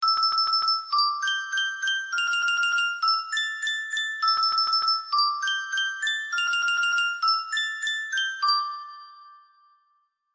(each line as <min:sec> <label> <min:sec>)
0:00.0 musicbox 0:10.2